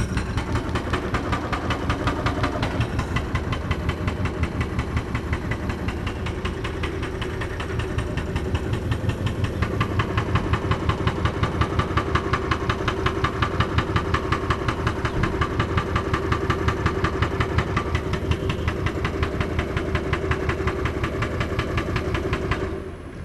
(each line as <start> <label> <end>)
0.0 excavator with mounted jackhammer demolishes the foundation 23.1